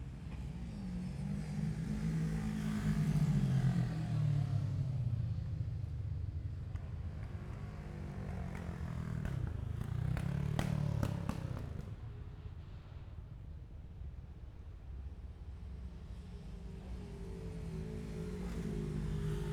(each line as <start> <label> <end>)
6.8 Motorcycle Road Racing 12.4
16.1 Motorcycle Road Racing 19.5